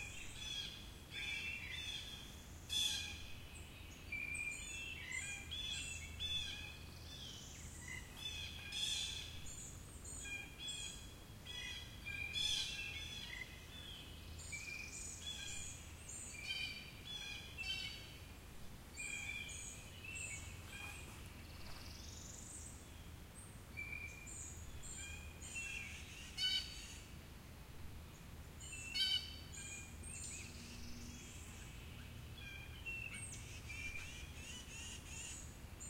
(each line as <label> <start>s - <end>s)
bird calls 0.0s - 18.2s
bird calls 19.0s - 22.6s
bird calls 28.6s - 35.8s
Blue Jays, doing their alarm calls 28.9s - 29.8s
Blue Jays, doing their alarm calls 32.4s - 35.5s